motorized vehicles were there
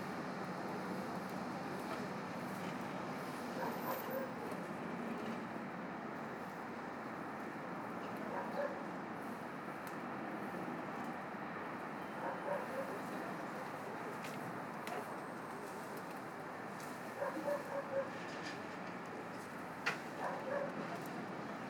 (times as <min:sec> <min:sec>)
0:10.7 0:21.6